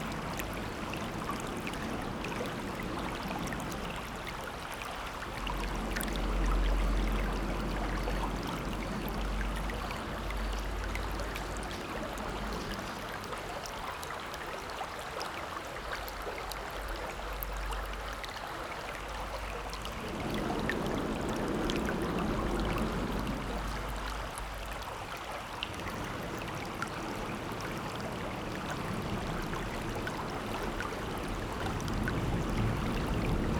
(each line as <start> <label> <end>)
0.0 water 33.5